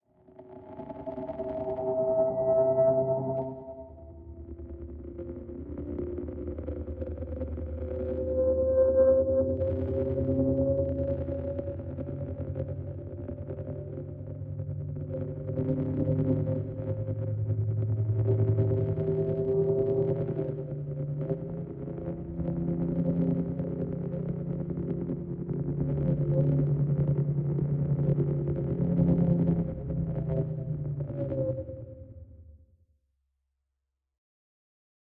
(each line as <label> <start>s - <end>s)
drone 0.1s - 32.3s